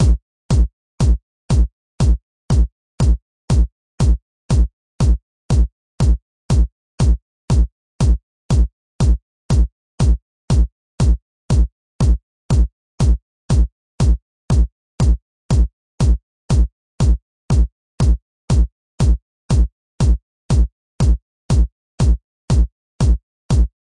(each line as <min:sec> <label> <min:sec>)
0:00.0 Kick drum heavily layered and processed 0:23.9